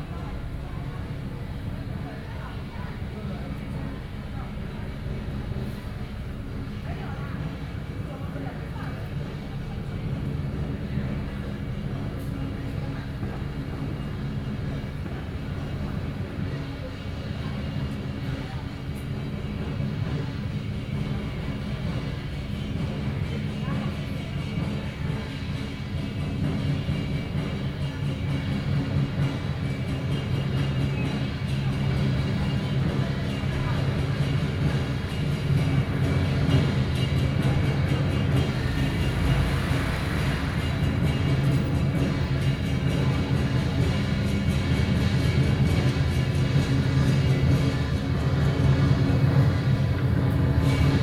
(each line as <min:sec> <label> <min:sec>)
0:24.4 Traditional musical instruments 0:51.0